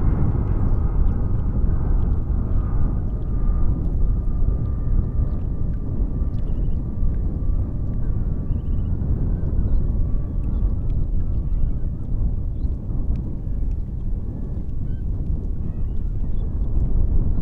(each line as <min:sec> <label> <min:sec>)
0:00.0 wind 0:17.4